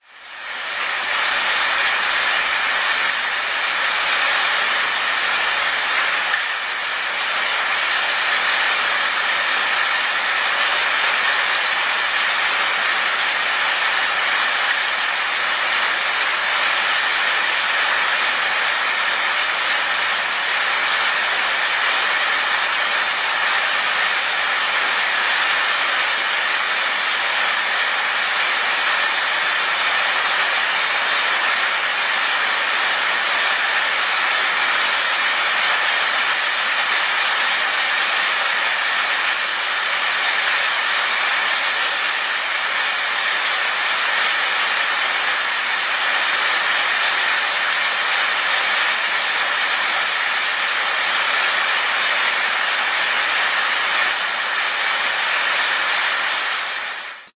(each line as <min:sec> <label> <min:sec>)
0:00.0 beating down of rain on the metal roof 0:57.3